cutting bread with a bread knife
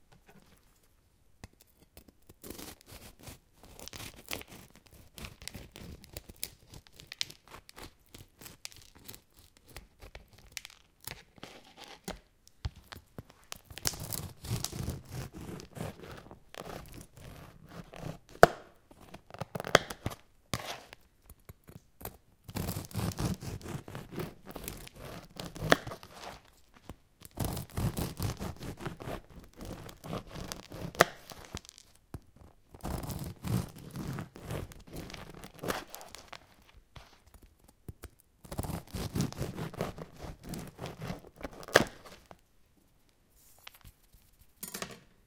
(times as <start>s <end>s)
1.7s 10.4s, 13.7s 21.0s, 21.6s 26.5s, 27.2s 31.8s, 32.4s 36.4s, 38.4s 42.3s